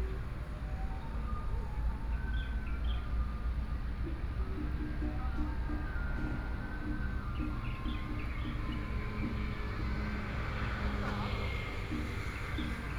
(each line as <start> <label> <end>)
3.4 Traffic Sound 12.9